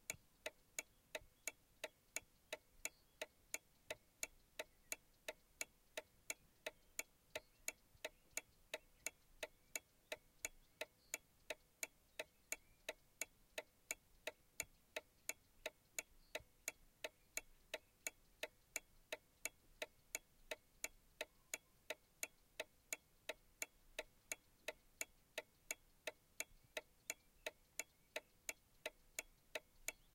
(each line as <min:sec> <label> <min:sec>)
0:00.1 Birds Outside the Car 0:30.1